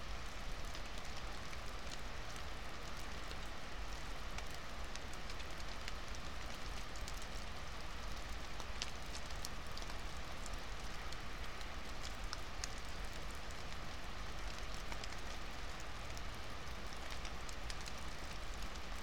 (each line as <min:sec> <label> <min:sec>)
0:00.0 Rain 0:19.0
0:00.0 melting snow 0:19.0